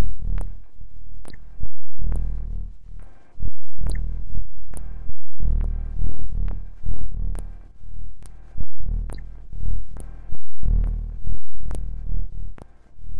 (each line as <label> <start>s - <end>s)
ambient droning noisescape 0.0s - 13.1s